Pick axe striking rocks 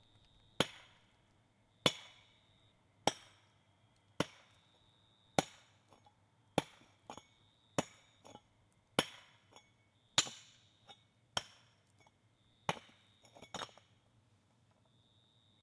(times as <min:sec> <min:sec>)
0:00.1 0:01.1, 0:01.8 0:02.3, 0:03.0 0:03.5, 0:04.2 0:04.7, 0:05.4 0:14.0